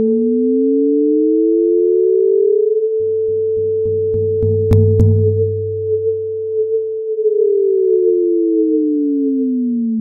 sinusoidal tone 0.0 - 10.0
risset battery track 1.9 - 8.4
second sinusoidal gyrize track 2.0 - 9.2

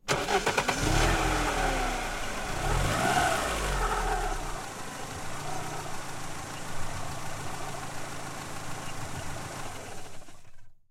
car starting 0.0 - 10.7

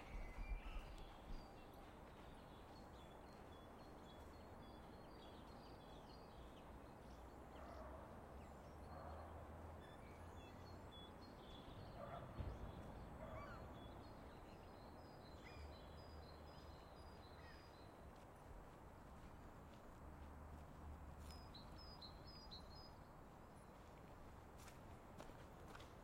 birds 0.0 - 19.3

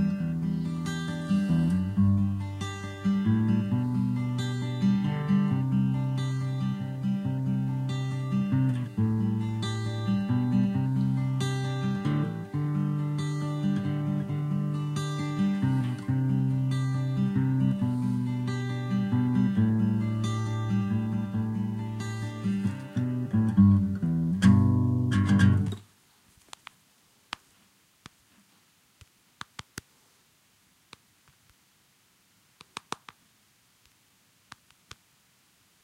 sad melody (guitar) 0.0 - 25.8

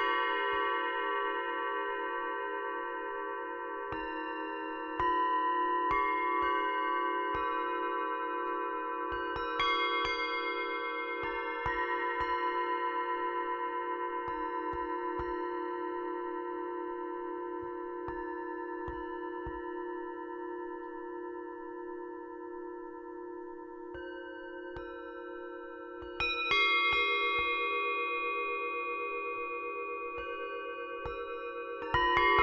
singing bowl 0.0 - 32.4

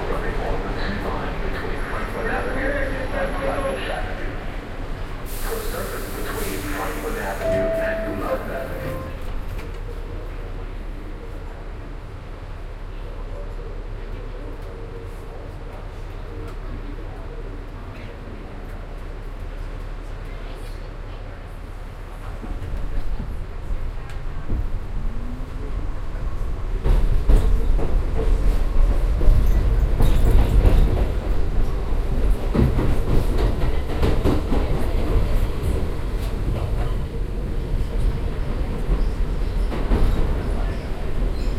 train 0.0 - 41.5

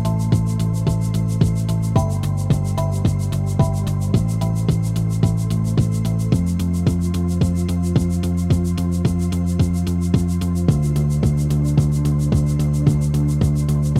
bass 0.0 - 13.9
guitar 0.0 - 13.9
synth 0.0 - 13.9

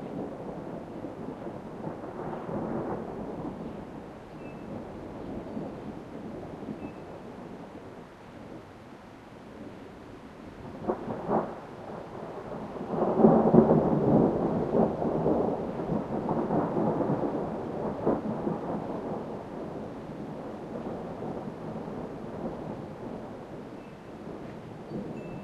distant thunder rumble 0.0 - 8.1
distant thunder rumble 10.5 - 25.4

